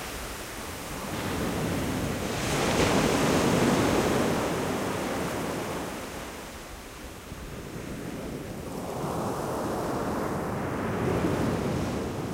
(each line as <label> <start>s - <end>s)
wind 0.0s - 12.3s